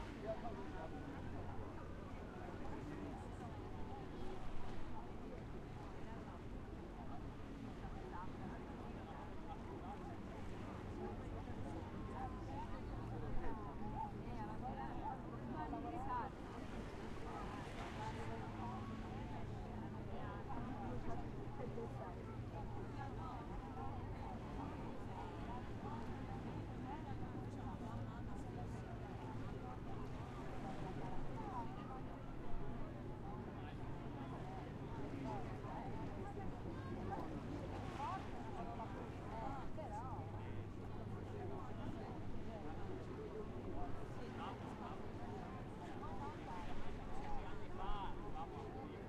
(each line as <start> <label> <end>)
0.0 voices of many people chattering 49.0